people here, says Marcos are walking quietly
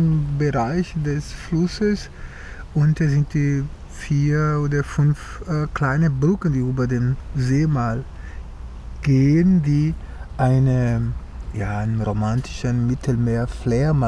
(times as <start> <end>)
9.0 14.0